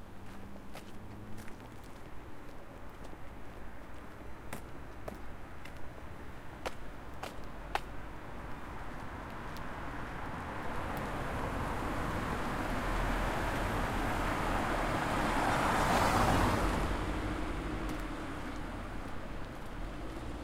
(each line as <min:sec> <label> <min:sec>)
0:00.2 walking 0:09.7
0:17.2 walking 0:20.4